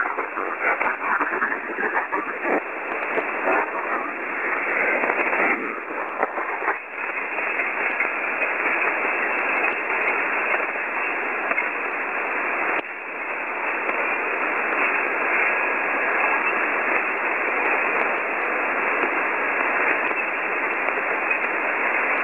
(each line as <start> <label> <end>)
0.0 Signals 12.8
0.0 static 22.2